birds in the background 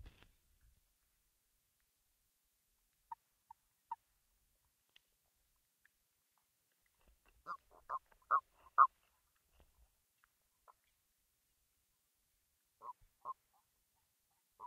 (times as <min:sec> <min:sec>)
0:12.6 0:14.6